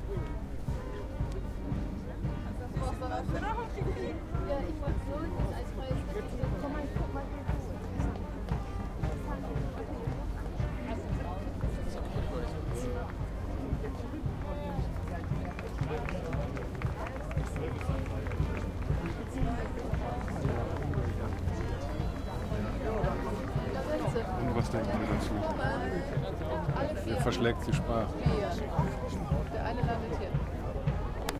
0.0s voices of people all around 31.3s
0.0s marching band passes over 31.3s

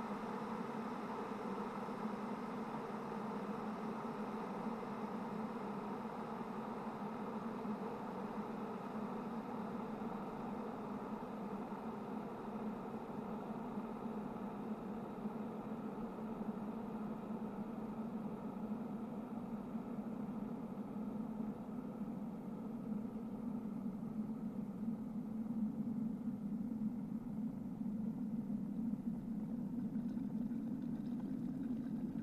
29.4s kettle from turning on to boiling 32.2s

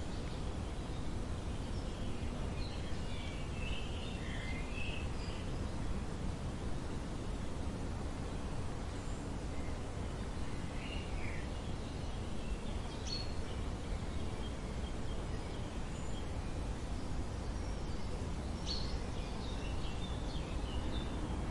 0.0s Birds are singing 21.5s
0.0s light traffic 21.5s

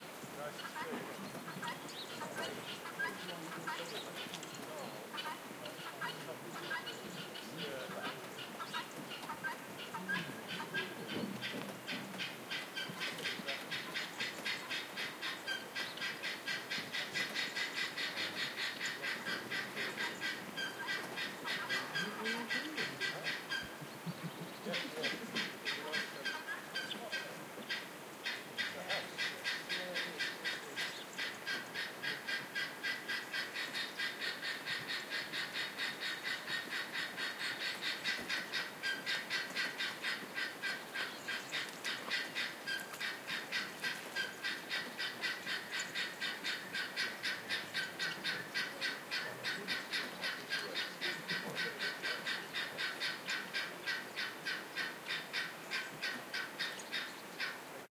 0.4s Guinea Fowl 57.7s

